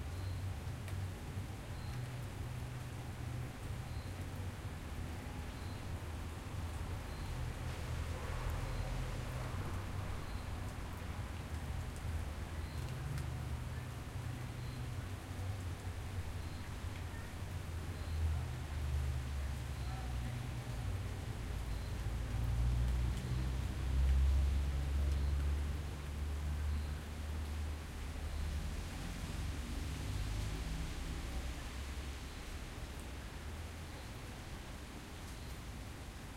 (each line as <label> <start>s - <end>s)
raining over pavement 0.0s - 36.3s
car passing by 28.5s - 32.3s